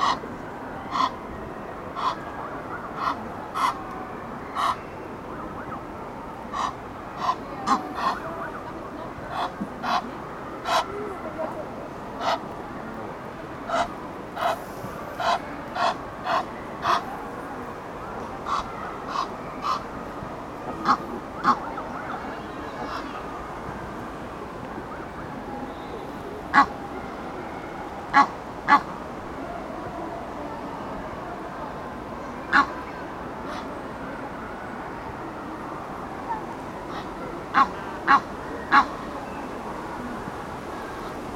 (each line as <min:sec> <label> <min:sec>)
0:00.0 emden goose 0:00.2
0:00.0 egyptian gooses on a pontoon 0:41.3
0:00.8 emden goose 0:01.2
0:01.9 emden goose 0:12.5
0:13.6 emden goose 0:17.1
0:18.4 emden goose 0:19.9
0:20.7 emden goose 0:23.2
0:26.5 emden goose 0:26.7
0:28.1 emden goose 0:29.0
0:32.5 emden goose 0:32.7
0:33.5 emden goose 0:33.7
0:36.3 emden goose 0:39.0